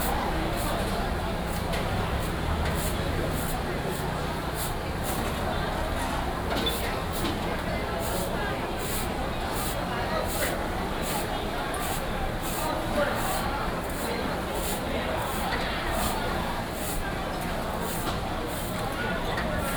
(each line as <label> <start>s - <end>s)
Many people are dining 0.0s - 19.7s